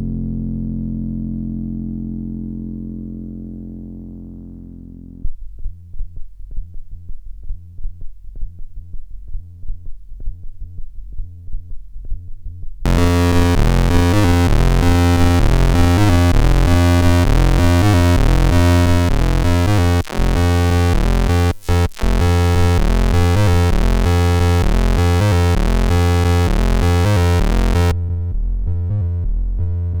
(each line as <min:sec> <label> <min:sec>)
0:00.0 bass 0:30.0
0:12.9 lead 0:27.9
0:12.9 synth 0:27.9